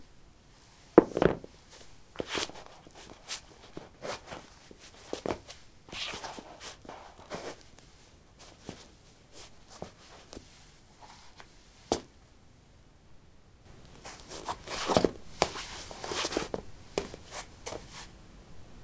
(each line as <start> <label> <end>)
1.0 Putting ballerinas on/off on linoleum 1.5
13.8 footsteps 18.1